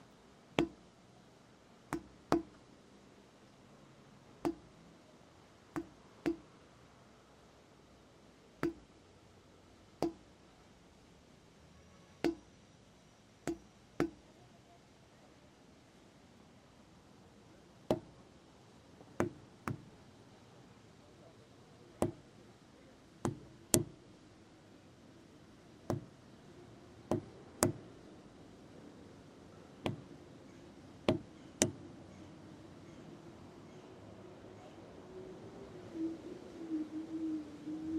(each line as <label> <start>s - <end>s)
traffic 17.4s - 37.9s